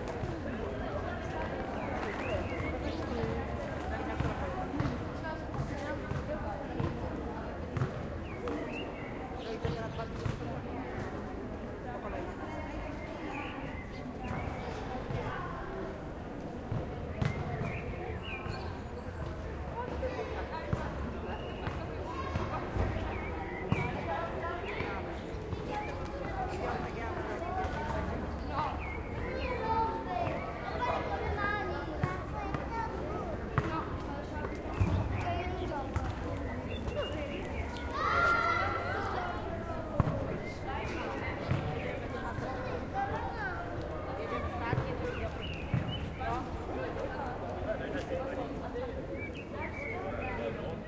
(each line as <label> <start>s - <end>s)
Kids playing soccer 0.0s - 50.8s
tourists 0.0s - 50.8s
birds 1.3s - 4.3s
birds 17.1s - 19.3s
birds 21.3s - 31.4s
birds 33.6s - 39.4s
birds 44.3s - 47.1s
birds 49.0s - 50.8s